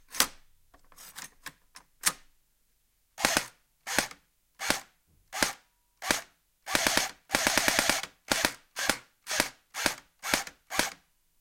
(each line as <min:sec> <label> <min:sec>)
0:03.2 Airsoft Rifle being shot 0:11.0